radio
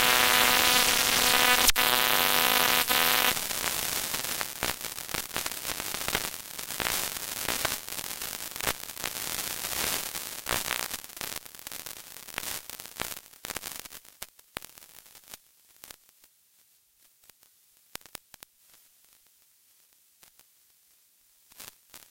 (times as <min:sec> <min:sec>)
0:00.0 0:03.4